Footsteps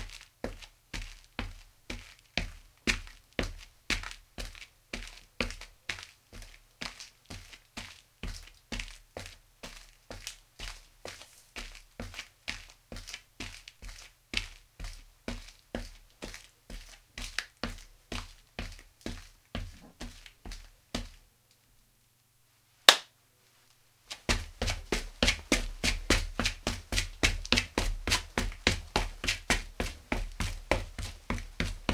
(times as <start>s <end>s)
24.1s 31.9s